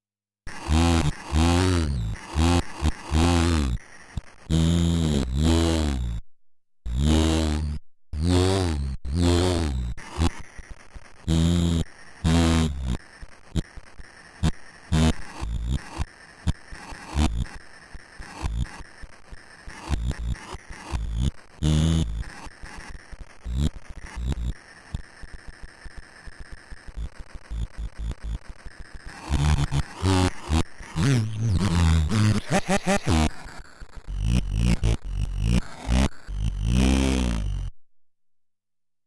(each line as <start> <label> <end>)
0.5 glitch 6.2
6.9 glitch 37.7
29.3 vocal 33.5